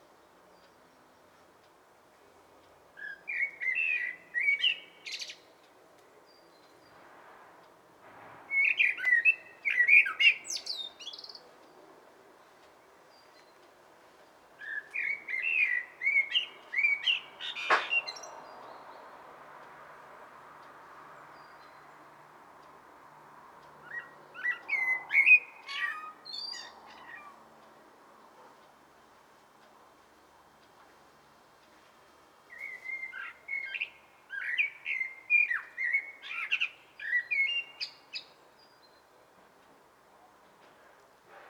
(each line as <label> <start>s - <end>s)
single song bird tweets 3.0s - 5.5s
single song bird tweets 8.5s - 11.5s
single song bird tweets 14.6s - 19.2s
single song bird tweets 23.8s - 27.4s
single song bird tweets 32.5s - 39.1s